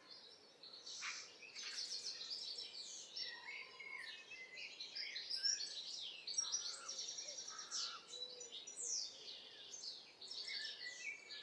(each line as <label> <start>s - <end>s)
blackbird 0.0s - 11.4s
wind 0.0s - 11.4s
pheasant 0.8s - 2.4s